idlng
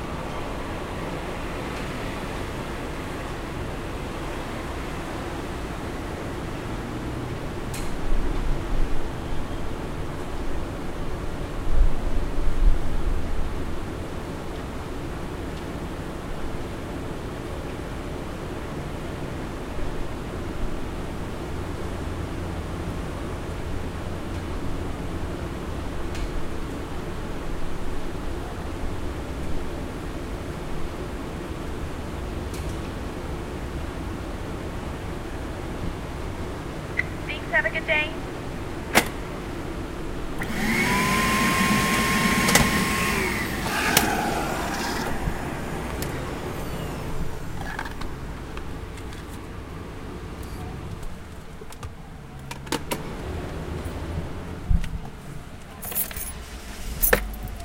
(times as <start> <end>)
40.4 48.7